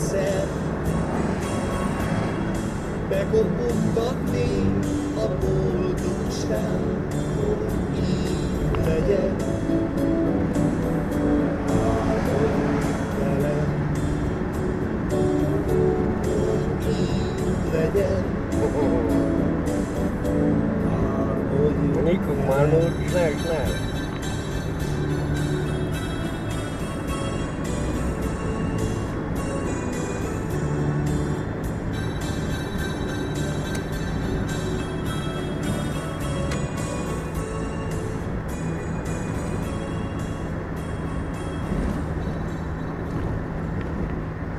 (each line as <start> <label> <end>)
2.5 car stereo 44.5